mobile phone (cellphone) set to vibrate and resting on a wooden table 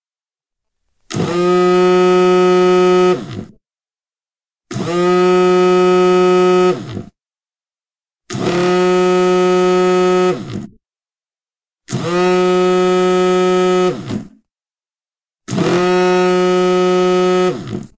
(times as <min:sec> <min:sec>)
0:01.0 0:03.6, 0:04.7 0:07.2, 0:08.3 0:10.8, 0:11.9 0:14.5, 0:15.5 0:17.9